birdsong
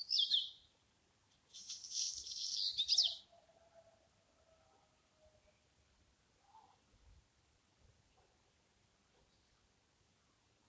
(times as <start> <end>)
0.0 0.7, 1.5 3.5